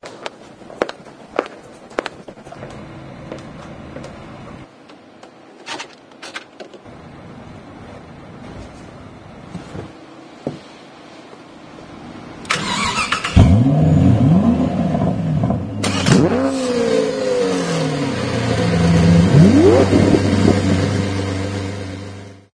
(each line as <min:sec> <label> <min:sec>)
0:00.0 walking with heels 0:04.2
0:08.4 walking with heels 0:10.7
0:12.4 starting a luxurious car engine 0:22.4